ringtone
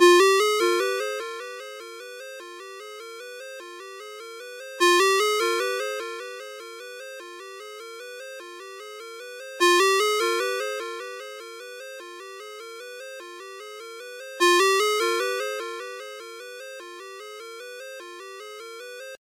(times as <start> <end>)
0.0 2.6, 4.8 7.5, 8.1 11.8, 14.0 19.2